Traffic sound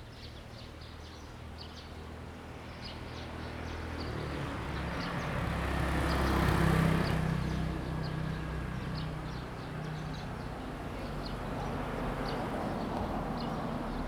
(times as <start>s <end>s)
2.9s 14.0s